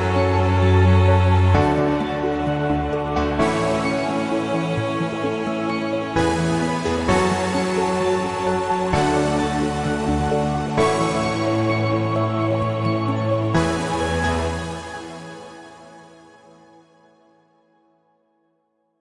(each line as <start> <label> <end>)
0.0 Music 19.0